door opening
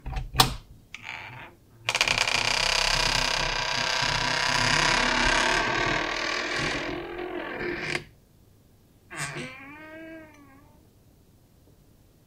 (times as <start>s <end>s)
0.0s 8.1s, 9.1s 10.8s